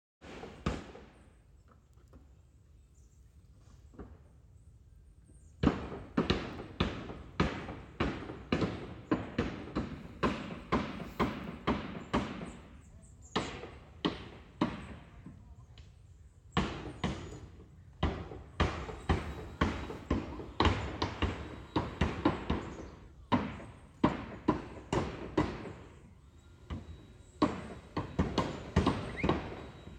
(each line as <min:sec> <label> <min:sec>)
0:00.2 Roofing Work 0:04.8
0:05.4 Roofing Work 0:29.9